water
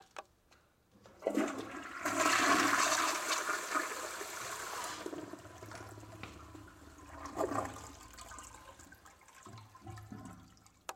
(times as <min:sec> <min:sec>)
0:05.4 0:10.9